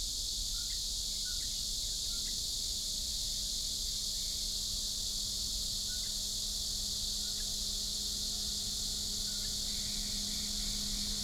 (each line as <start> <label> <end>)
0.6 Cicadas 11.2